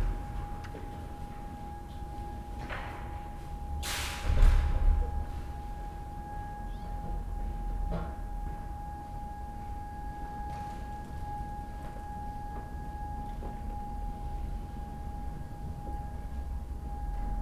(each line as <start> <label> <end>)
0.0 sirens 17.4